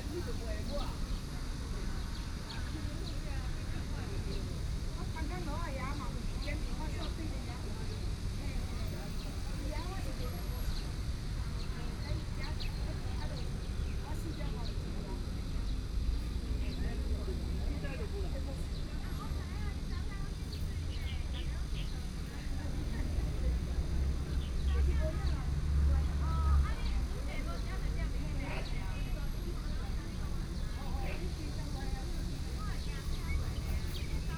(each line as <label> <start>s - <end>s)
Cicadas 0.0s - 34.3s
Traffic Sound 15.5s - 34.3s